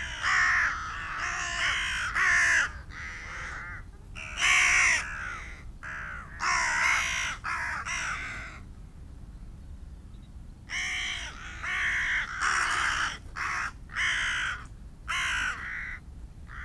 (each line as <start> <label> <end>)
0.0 gathering of rooks and crows 8.7
10.7 gathering of rooks and crows 16.6